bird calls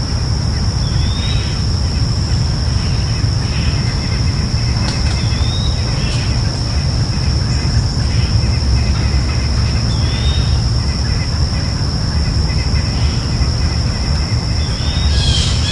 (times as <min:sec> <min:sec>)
0:02.7 0:11.8, 0:12.5 0:15.7